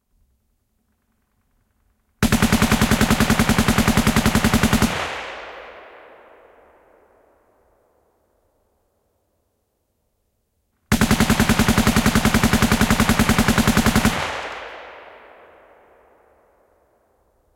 A machine gun 0:02.2 - 0:05.4
A machine gun 0:10.9 - 0:14.7

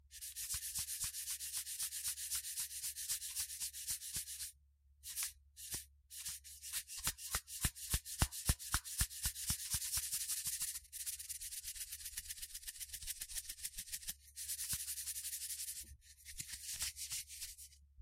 semi rithmic saltshaker 0:00.1 - 0:17.8

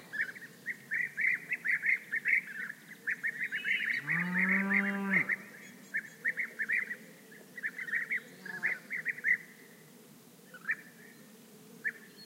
singing beeaters 0:00.0 - 0:09.9
moo of a (distant) cow 0:04.0 - 0:05.4
singing beeaters 0:10.5 - 0:12.2

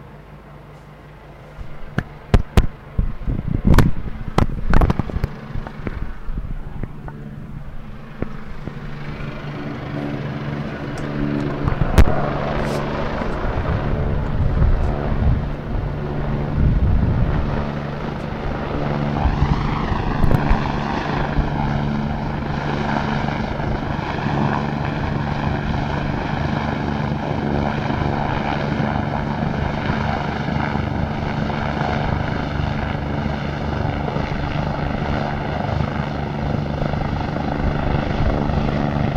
police helicopter hovering 0:00.0 - 0:39.1

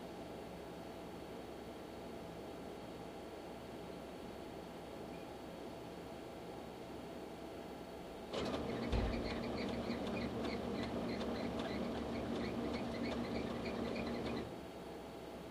industrial photocopier 0:08.3 - 0:14.6

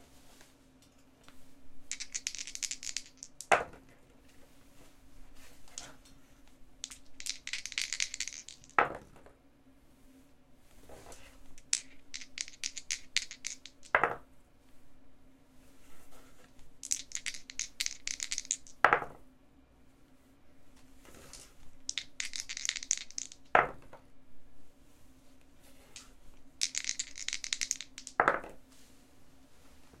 dice being shaken in the hand 0:01.9 - 0:03.6
dice being shaken in the hand 0:06.8 - 0:08.9
dice being shaken in the hand 0:11.6 - 0:14.0
dice being shaken in the hand 0:16.8 - 0:18.9
dice being shaken in the hand 0:21.2 - 0:23.6
dice being shaken in the hand 0:25.9 - 0:28.4

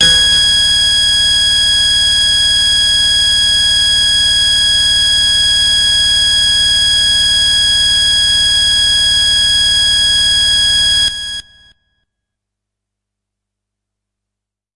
hard, harsh lead sound 0:00.0 - 0:01.6

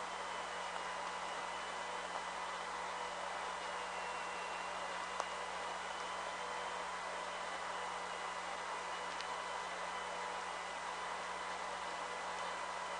audible signal in VLF band 0:00.0 - 0:12.9

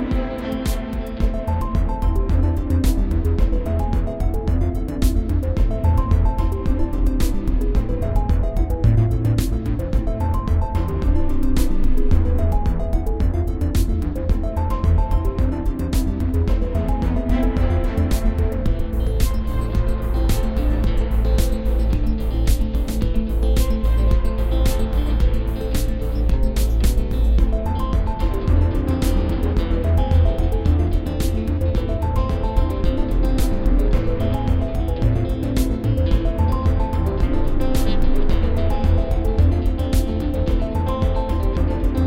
faster beat 0:00.0 - 0:42.0

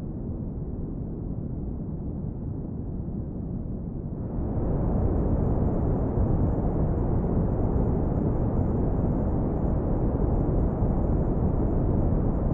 Clustered wind buildup 0:04.1 - 0:12.5

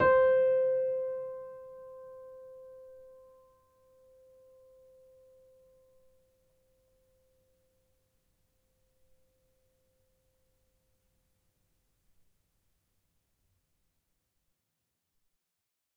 upright choiseul piano 0:00.0 - 0:05.5

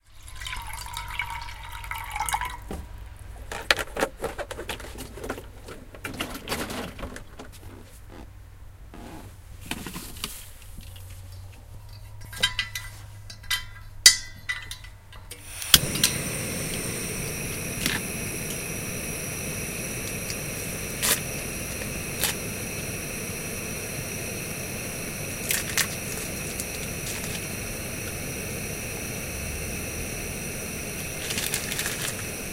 Cooking sausage inside the truck cab 0:00.0 - 0:08.3
pouring water 0:00.0 - 0:03.0
camping stove 0:03.2 - 0:32.5
Cooking sausage inside the truck cab 0:09.0 - 0:32.5
pouring water 0:15.4 - 0:32.5
rattle 0:31.2 - 0:32.3

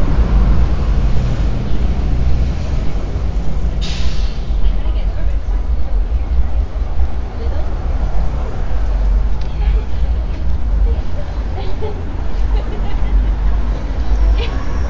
street car 0:00.0 - 0:14.8
traffic 0:00.0 - 0:14.8
voices 0:01.2 - 0:14.8

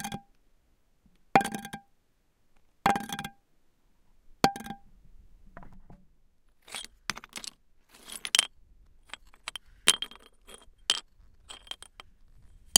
hitting, scratching and rolling all sorts of stones 0:06.6 - 0:12.7

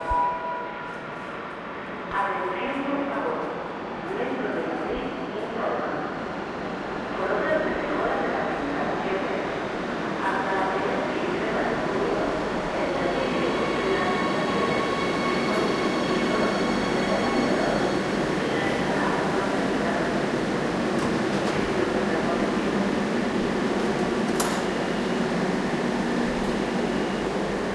train is arriving 0:00.0 - 0:27.7

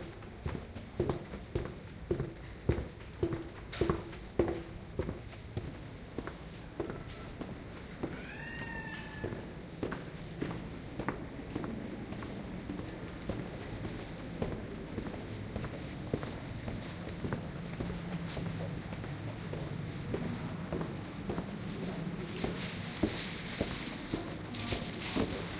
footsteps 0:13.3 - 0:25.5

